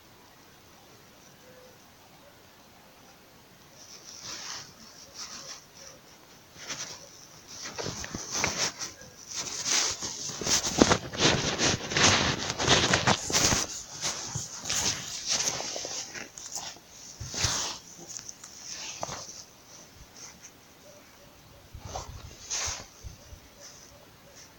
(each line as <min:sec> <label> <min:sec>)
0:00.0 wind 0:24.5
0:06.5 my footsteps 0:20.6